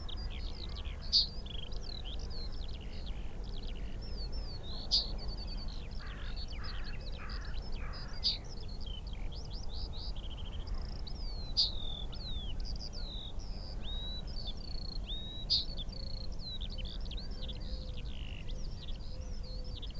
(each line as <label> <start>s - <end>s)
crow 6.0s - 8.4s